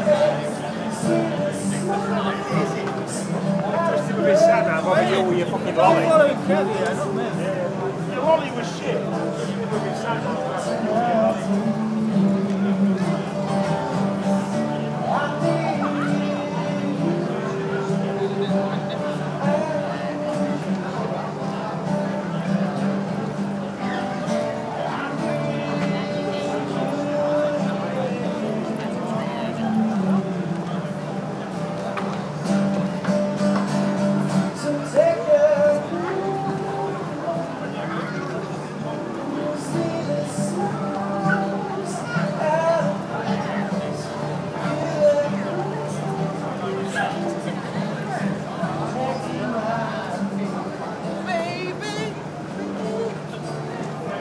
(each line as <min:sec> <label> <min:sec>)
0:00.0 Singer 0:21.8
0:00.0 guitar 0:54.2
0:00.0 people 0:54.2
0:23.7 Singer 0:31.8
0:33.3 Singer 0:54.2